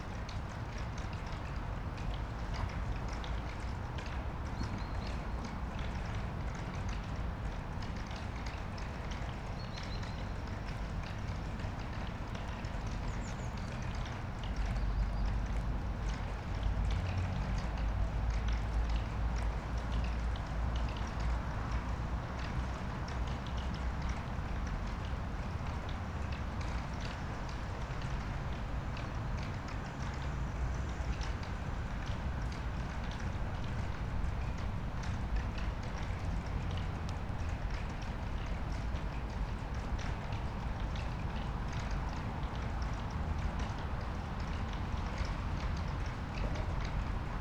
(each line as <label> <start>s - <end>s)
rain on fence 13.9s - 47.4s